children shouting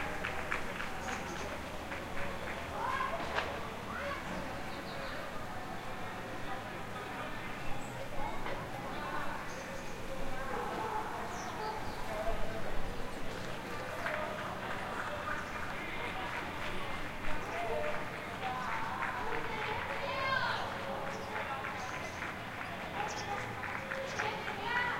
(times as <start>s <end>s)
2.7s 4.6s, 19.3s 20.8s, 24.1s 24.9s